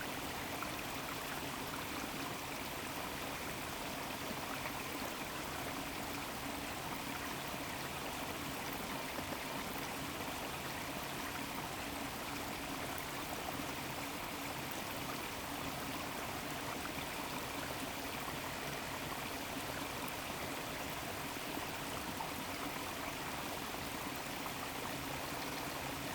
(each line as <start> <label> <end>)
0.0 streamflow from the valley of the mills 26.1